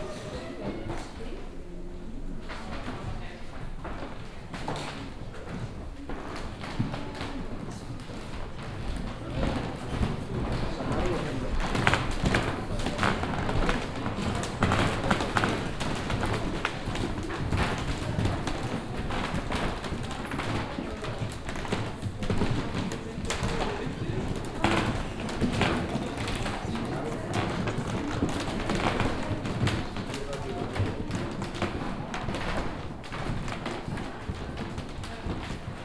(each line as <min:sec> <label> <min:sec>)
0:00.0 wooden floor as the visitors move around on it 0:35.8